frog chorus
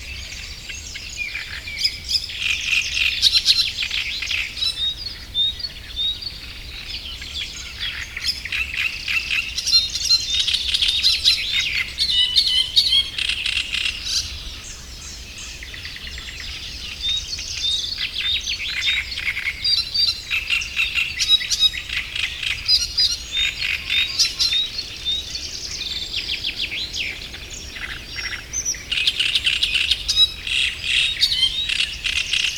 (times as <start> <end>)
15.6 32.5